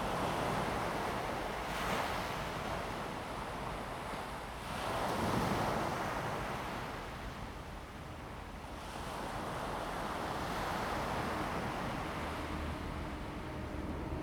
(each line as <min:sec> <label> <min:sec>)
0:01.0 waves 0:14.2